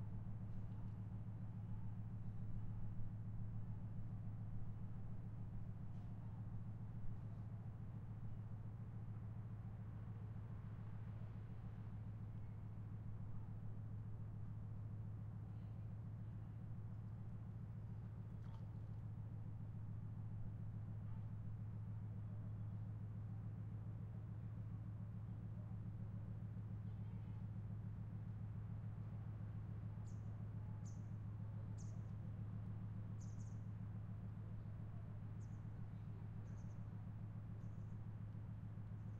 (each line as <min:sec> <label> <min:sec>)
0:00.0 very deep big engine from boat 0:39.1